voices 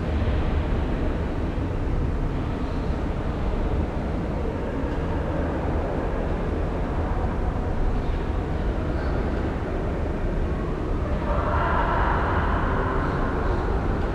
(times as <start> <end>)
10.6 14.1